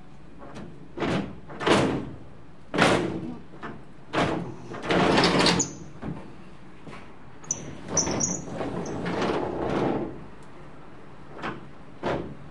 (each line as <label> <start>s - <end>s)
glass sliding door being opened and closed 0.4s - 6.2s
glass sliding door being opened and closed 7.5s - 10.4s
glass sliding door being opened and closed 11.2s - 12.5s